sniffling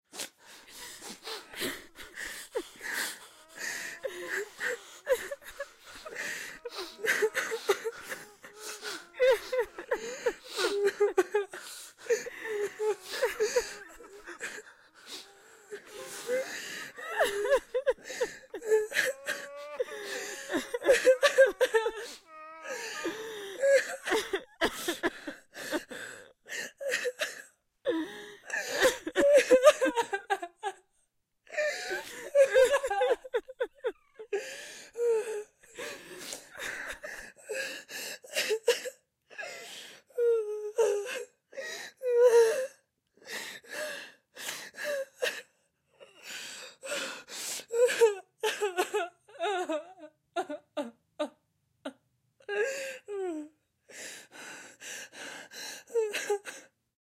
0.1s 27.2s

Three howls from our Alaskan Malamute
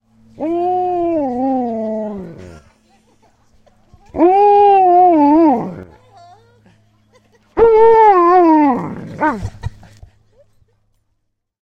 0.3s 2.4s, 4.1s 6.0s, 7.6s 9.5s

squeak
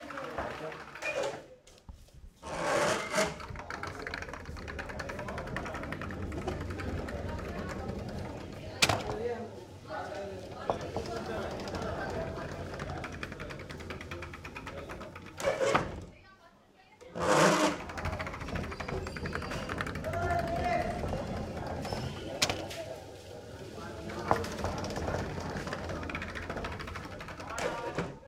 17.2s 20.4s, 21.8s 22.4s

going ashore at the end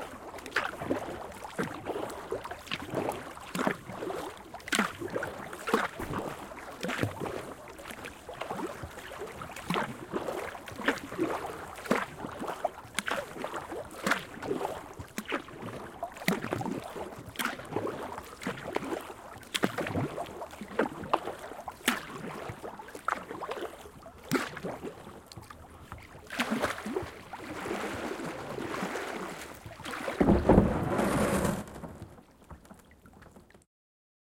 26.2s 32.1s

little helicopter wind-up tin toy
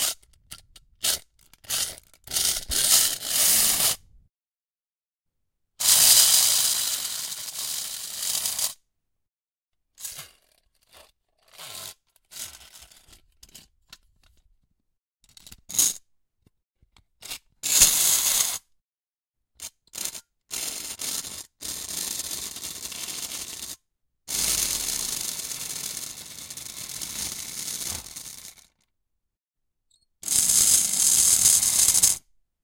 0.0s 3.9s, 5.8s 8.8s, 19.6s 28.8s, 30.2s 32.2s

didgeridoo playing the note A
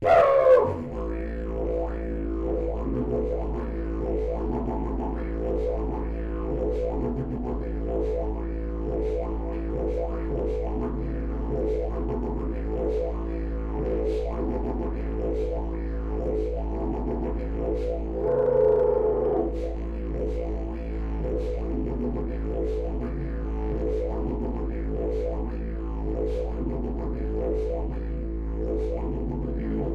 0.0s 9.3s, 17.8s 29.9s

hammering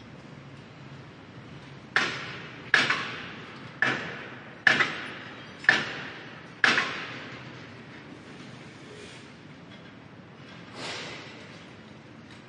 2.0s 7.4s

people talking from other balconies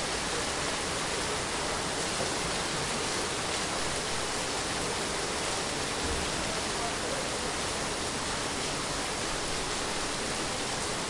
6.0s 8.5s

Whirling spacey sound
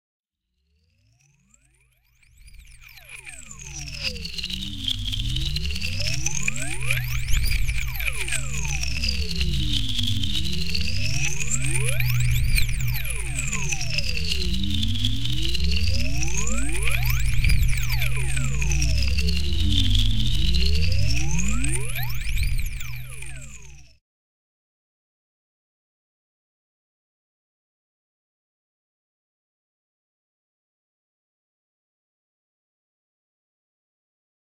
2.8s 23.9s

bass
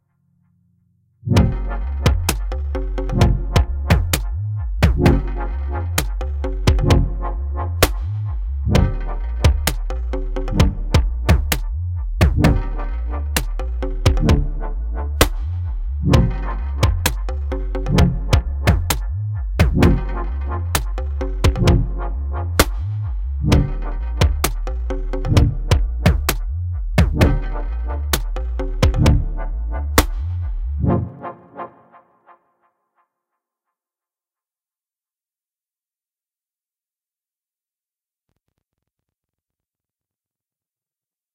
0.0s 31.8s

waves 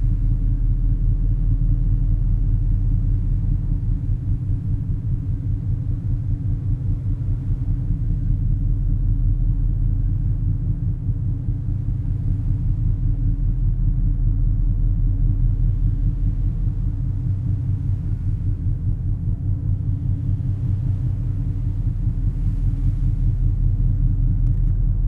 15.6s 24.0s

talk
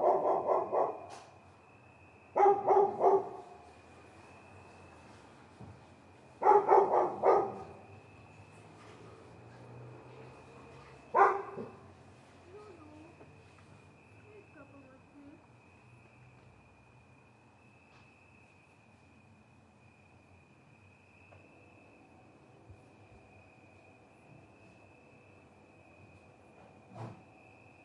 12.5s 13.2s, 14.2s 15.4s

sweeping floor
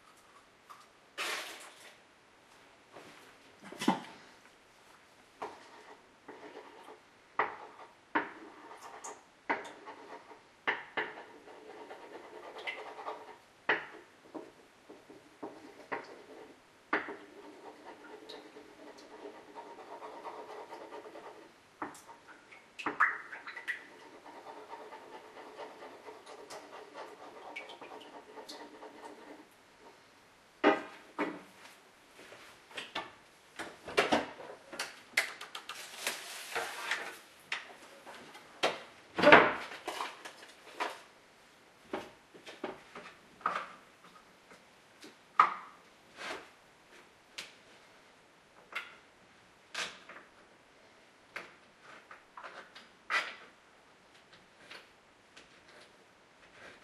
35.7s 37.3s

